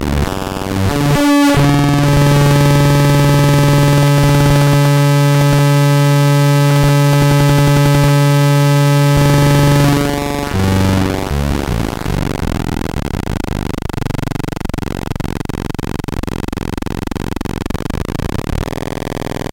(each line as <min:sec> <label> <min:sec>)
0:00.0 Atari Punk Console 0:19.5